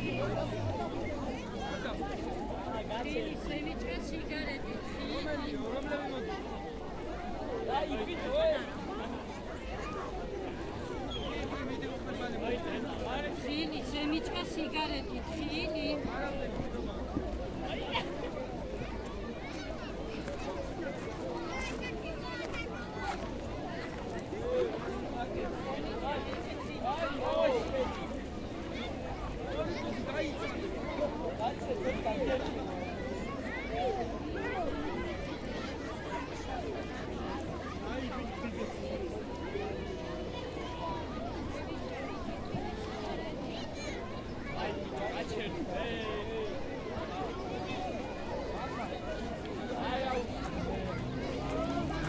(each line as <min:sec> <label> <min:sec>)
0:00.0 Lot's of people 0:52.0